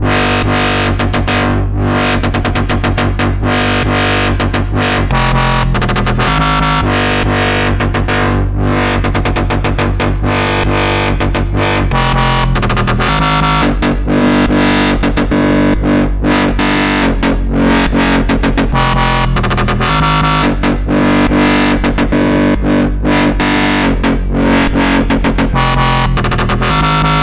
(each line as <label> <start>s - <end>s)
midrange dubstep bassline 0.0s - 27.2s